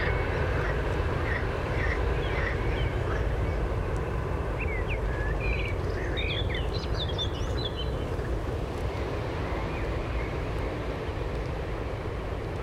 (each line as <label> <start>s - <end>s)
frogs 0.0s - 3.8s
birds 0.0s - 10.9s
Trains 0.0s - 12.6s